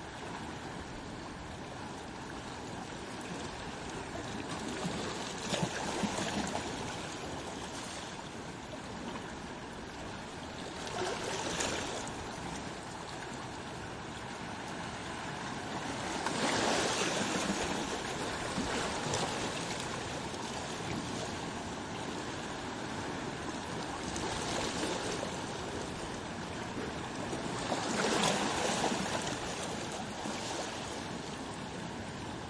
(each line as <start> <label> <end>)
0.0 Movements of the sea in little rocks 32.4